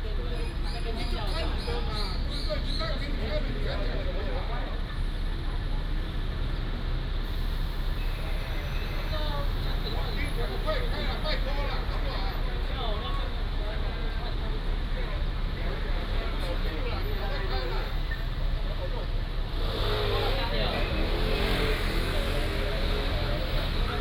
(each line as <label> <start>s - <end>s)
Traffic sound 0.0s - 24.0s